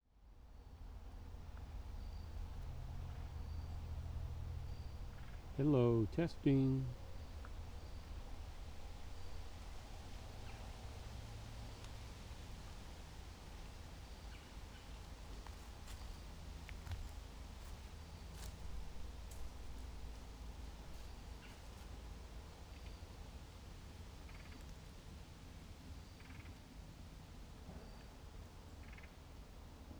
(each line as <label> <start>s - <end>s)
very distant traffic 0.1s - 24.6s
wind rushing through the changing leaves 6.9s - 29.9s
somebody walking/crunching on the leaves 15.1s - 21.9s